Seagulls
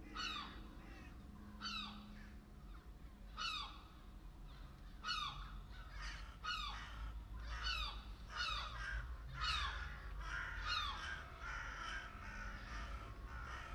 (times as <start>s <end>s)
4.5s 13.7s